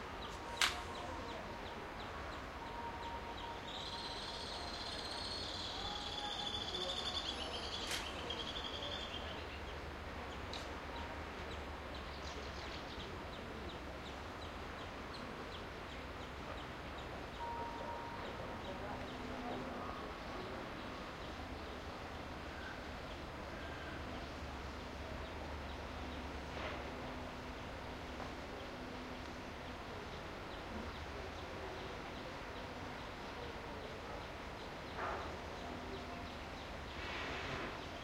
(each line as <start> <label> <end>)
0.0 voices of tourists 38.0
0.2 birds 38.0